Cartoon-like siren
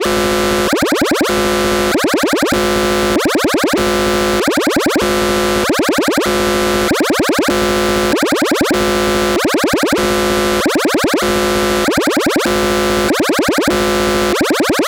8.0 14.8

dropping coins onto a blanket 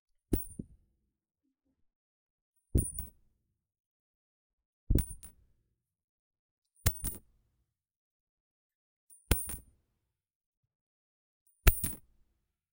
2.8 3.2, 4.9 5.4, 6.8 7.3, 9.2 9.7, 11.6 12.2

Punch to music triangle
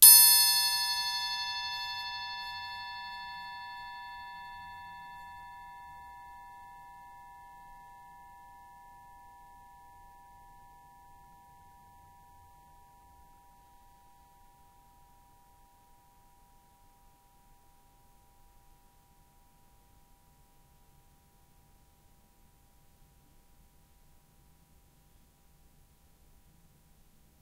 0.0 4.8

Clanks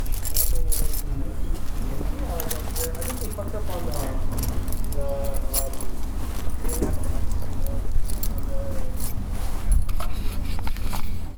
0.0 1.1

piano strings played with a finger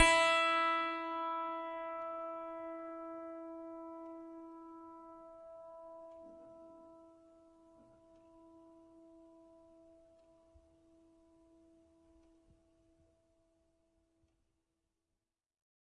0.0 6.7

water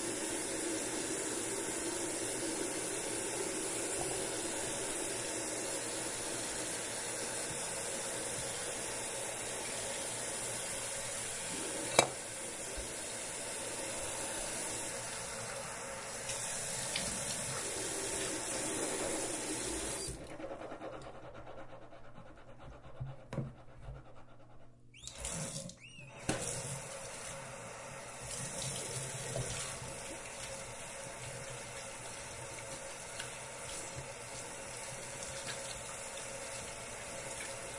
28.1 37.7

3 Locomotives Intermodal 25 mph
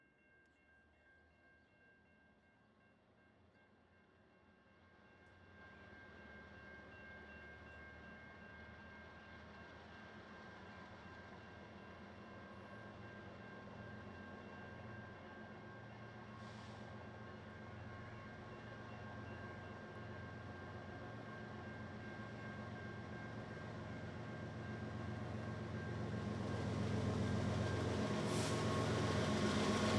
7.5 29.9

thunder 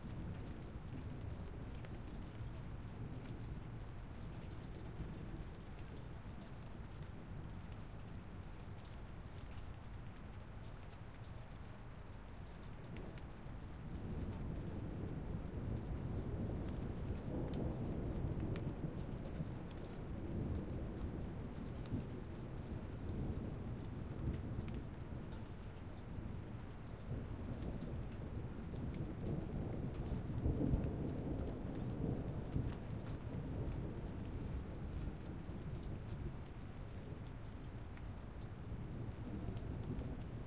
27.1 35.6

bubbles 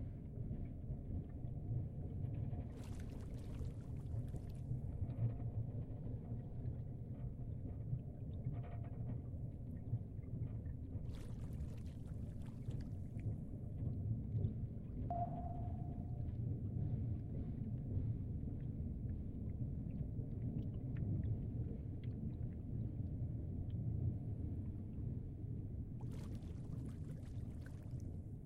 26.0 28.2

